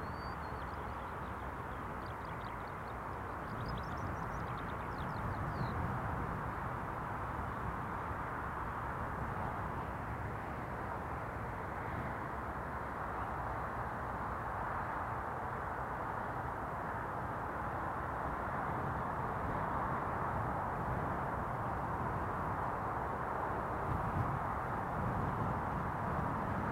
a lark sings beneath the wind 0:00.0 - 0:08.0
wind 0:00.0 - 0:26.7

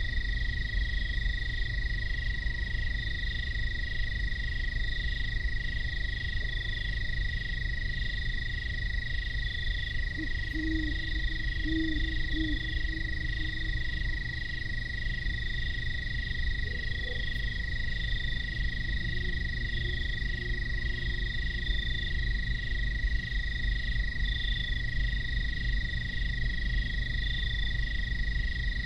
industrial sand plant drones discreetly in the distance 0:00.0 - 0:28.8
insect chatter 0:00.0 - 0:28.8
great horned owls signify territories 0:09.2 - 0:23.3

